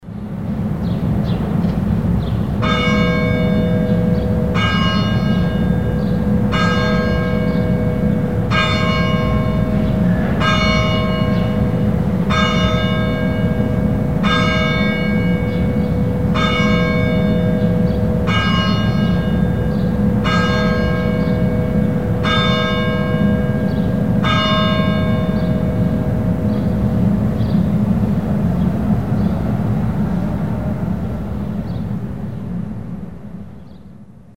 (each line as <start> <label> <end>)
0.0 sonoric constant traffic noise 34.3
2.6 clock bell 26.9